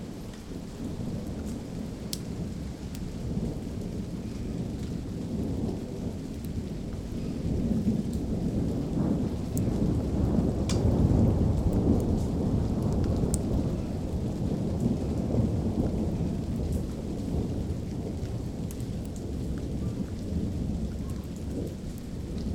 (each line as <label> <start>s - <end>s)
rain 0.0s - 22.5s
Thunder 0.5s - 22.5s